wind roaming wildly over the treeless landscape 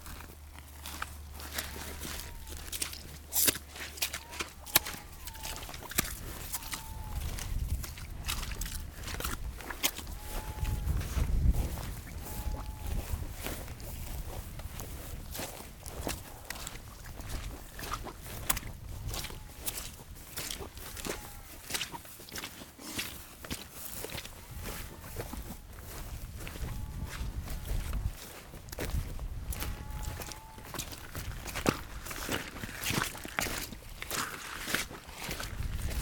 9.2s 16.3s

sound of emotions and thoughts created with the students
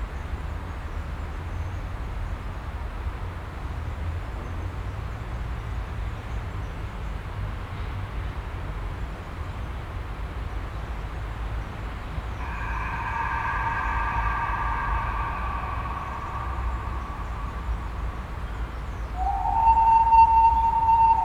12.4s 21.2s

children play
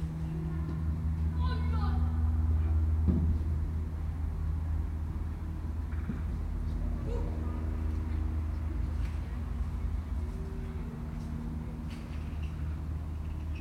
7.0s 8.0s

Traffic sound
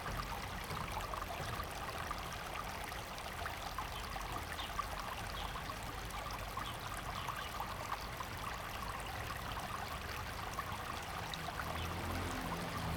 11.4s 12.9s

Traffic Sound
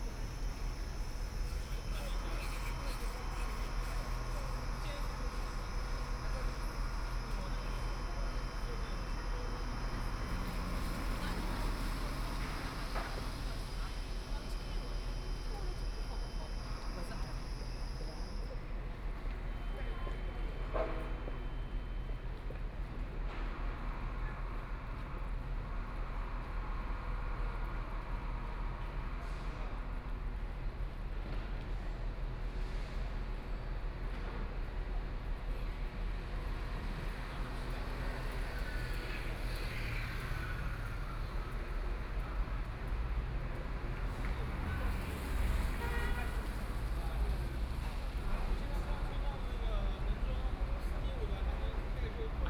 0.0s 21.2s, 36.1s 52.4s

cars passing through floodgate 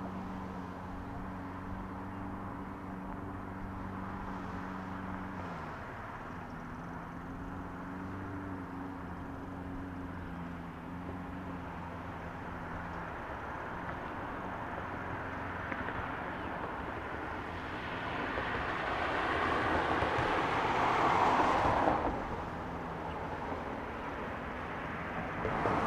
11.6s 25.8s

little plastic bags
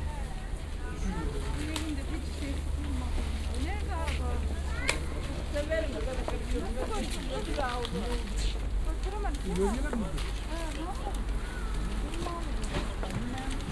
5.9s 13.7s

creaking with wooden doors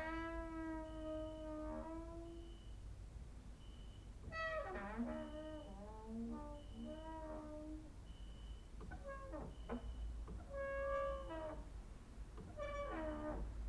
0.0s 2.6s, 4.2s 7.9s, 8.8s 11.7s, 12.3s 13.6s

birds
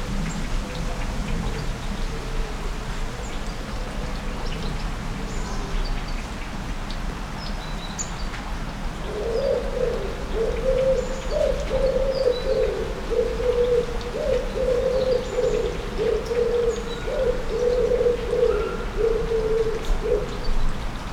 9.0s 21.1s

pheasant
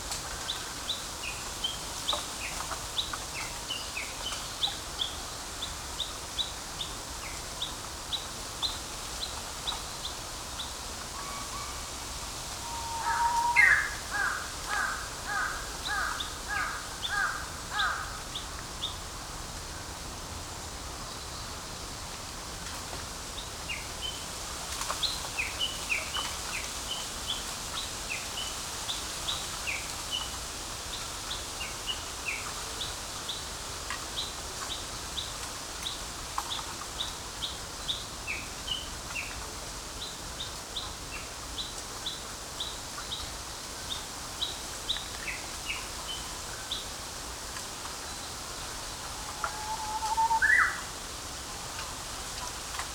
49.0s 50.9s

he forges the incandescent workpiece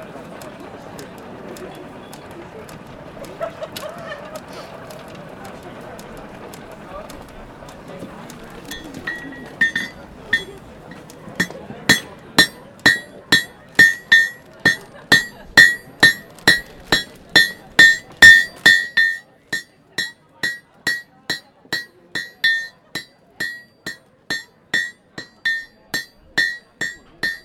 8.7s 27.4s

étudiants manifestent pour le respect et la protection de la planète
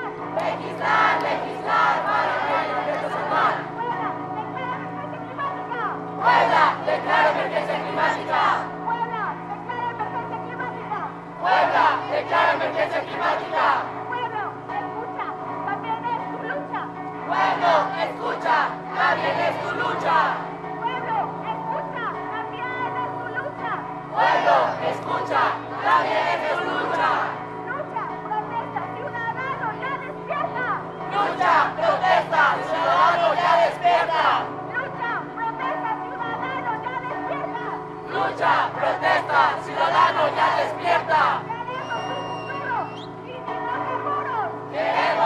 0.3s 4.6s, 5.7s 14.5s, 17.3s 21.1s, 24.1s 27.5s, 31.0s 35.1s, 38.0s 43.4s, 44.7s 45.2s

